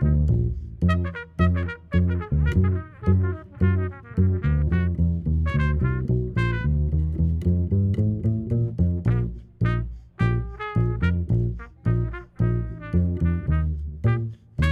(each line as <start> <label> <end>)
0.0 Koncert 14.7